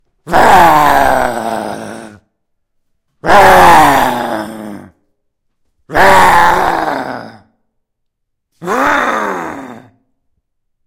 Angry Man 0:00.2 - 0:02.2
Angry Man 0:03.2 - 0:05.0
Angry Man 0:05.9 - 0:07.5
Angry Man 0:08.6 - 0:10.0

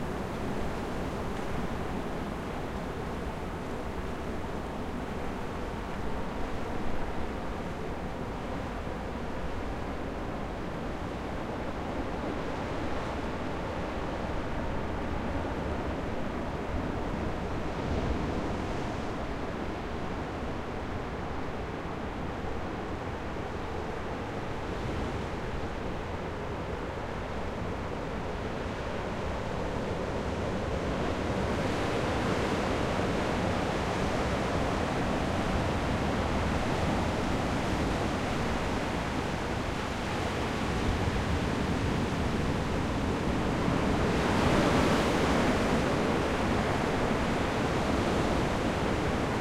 Roaring Ocean 0:00.0 - 0:49.4

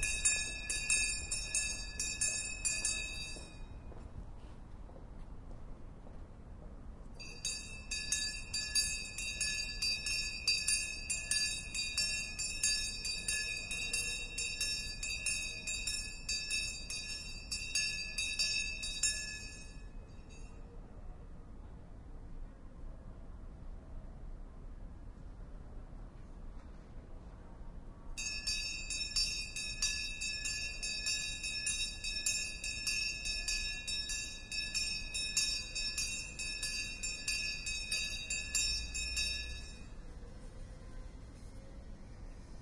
bell 0:00.0 - 0:04.0
bell 0:07.2 - 0:20.8
bell 0:28.2 - 0:40.6

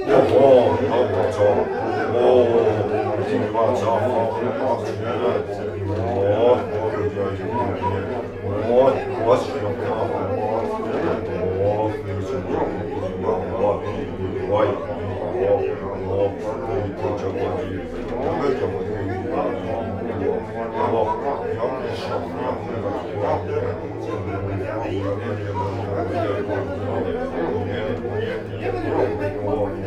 chatter 0:00.0 - 0:29.8

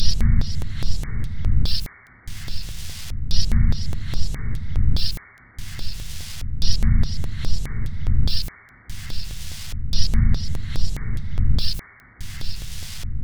Drum Loop 0:00.0 - 0:13.0

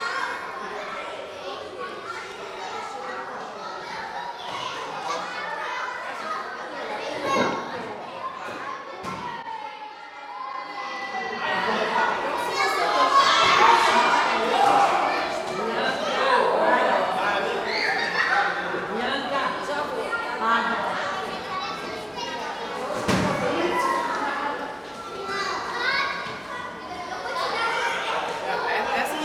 Children talking and playing 0:00.0 - 0:29.2

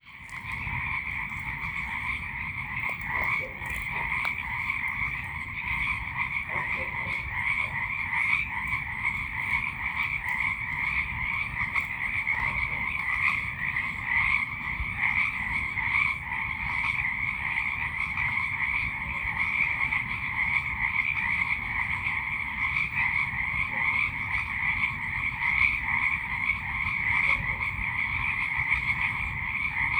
birds 0:00.0 - 0:29.9
frogs going off 0:00.0 - 0:29.9
insects 0:00.0 - 0:29.9
distant dog barks echoing through the woods 0:00.1 - 0:16.4

